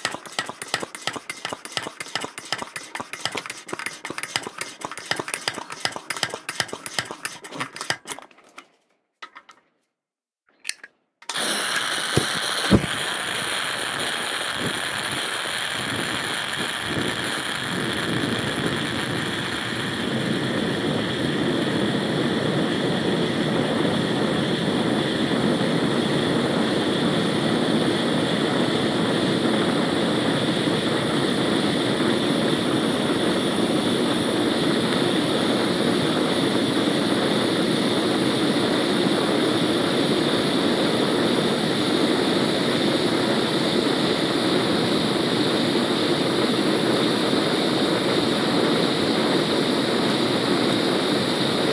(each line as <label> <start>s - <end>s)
flame 0.0s - 8.0s
camping stove being pumped with air 0.0s - 8.3s
fuel is ignited 0.0s - 8.3s
fuel is ignited 10.8s - 51.7s
camping stove being pumped with air 11.2s - 21.7s
flame 11.3s - 51.7s